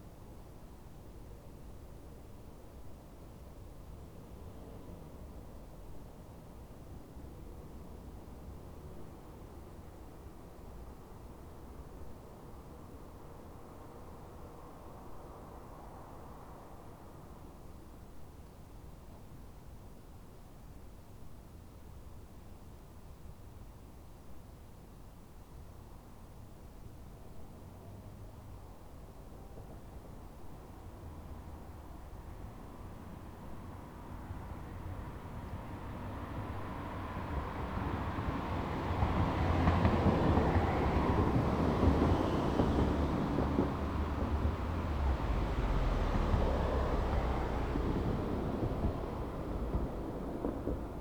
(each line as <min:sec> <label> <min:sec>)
0:35.4 cars passing over bumps 0:51.0